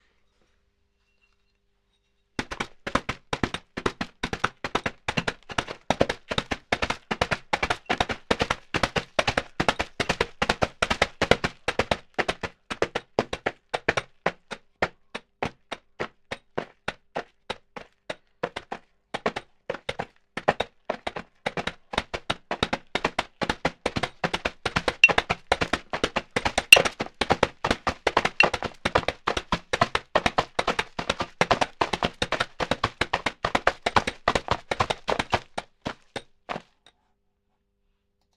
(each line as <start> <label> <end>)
2.4 Horse Galloping 14.6
18.5 Horse Galloping 36.7